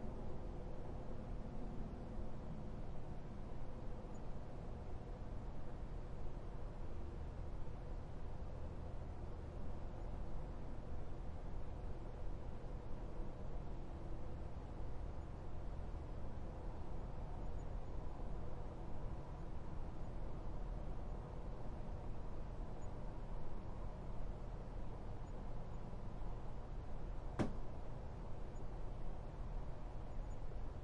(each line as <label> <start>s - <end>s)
distant highway traffic 14.4s - 30.7s